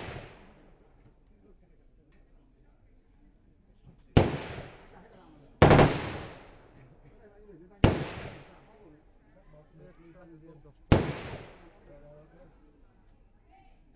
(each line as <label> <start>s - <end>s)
real rounds of AK47 0.0s - 0.4s
m16 0.0s - 0.8s
other guns 0.0s - 0.8s
other guns 3.9s - 6.9s
m16 4.0s - 6.9s
real rounds of AK47 4.2s - 4.9s
real rounds of AK47 5.6s - 6.6s
real rounds of AK47 7.8s - 8.6s
other guns 7.8s - 8.7s
m16 7.8s - 8.8s
other guns 10.9s - 11.9s
m16 10.9s - 12.0s
real rounds of AK47 10.9s - 11.6s